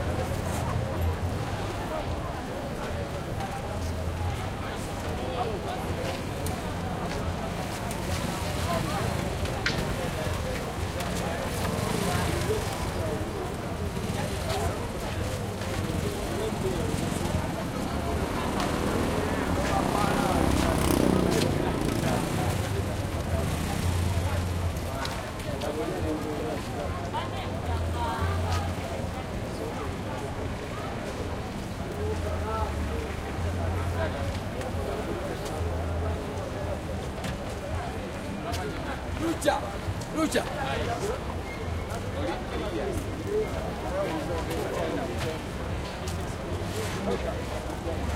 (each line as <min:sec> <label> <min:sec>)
0:00.0 voices 0:48.1
0:15.7 throaty motorcycles pass 0:24.9